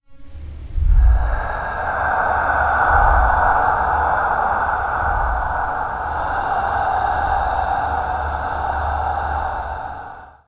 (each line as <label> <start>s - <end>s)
ghostly inhale and exhale 0.5s - 10.4s